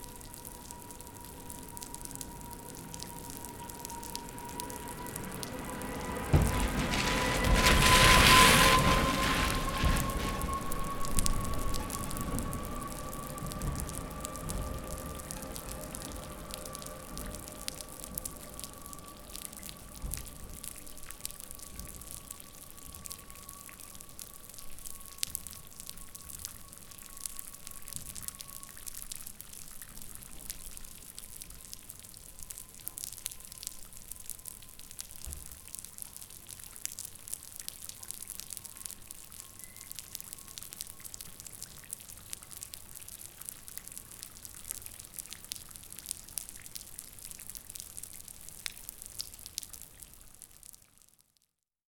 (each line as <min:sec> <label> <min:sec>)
0:04.8 milkmans drive 0:17.7